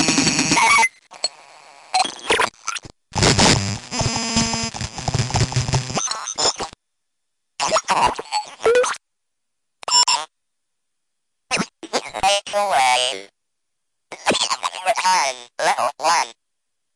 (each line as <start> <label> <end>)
7.6 noise from my glitched speak and maths toy 9.0
11.5 noise from my glitched speak and maths toy 13.3
14.1 noise from my glitched speak and maths toy 16.4